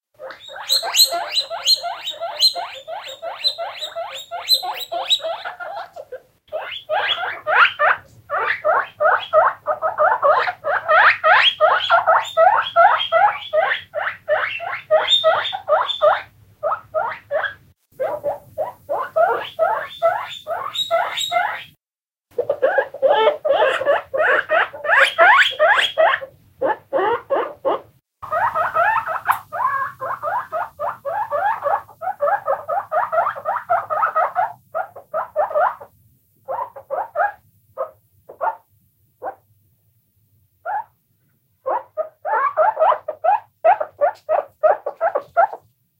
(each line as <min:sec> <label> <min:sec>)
0:00.2 Squeaking Guinea Pigs 0:21.8
0:22.4 Squeaking Guinea Pigs 0:39.4
0:40.6 Squeaking Guinea Pigs 0:41.0
0:41.6 Squeaking Guinea Pigs 0:45.7